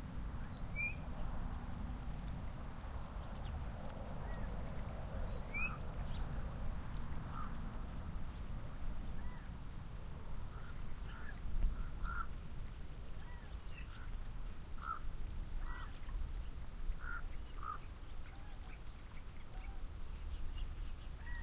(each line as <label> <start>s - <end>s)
birds sing in the cottonwoods 0.0s - 21.4s
steady wind creates wavelets on the lake 0.0s - 21.4s
ravens fly overhead 0.8s - 12.5s